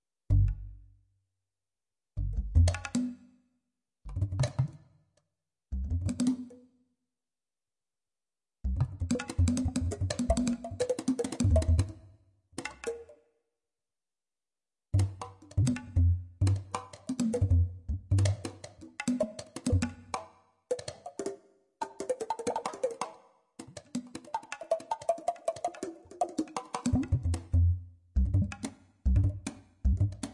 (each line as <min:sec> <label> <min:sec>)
0:00.3 bass 0:00.9
0:02.2 bass 0:03.1
0:04.0 bass 0:04.8
0:05.7 bass 0:06.5
0:08.6 bass 0:10.8
0:08.7 percussion sounds 0:11.9
0:11.4 bass 0:12.0
0:14.9 bass 0:18.5
0:15.0 percussion sounds 0:30.3
0:19.7 bass 0:20.1
0:26.9 bass 0:30.3